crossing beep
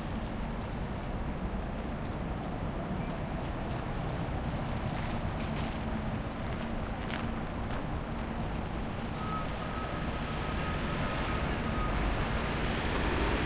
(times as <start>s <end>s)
9.1s 12.0s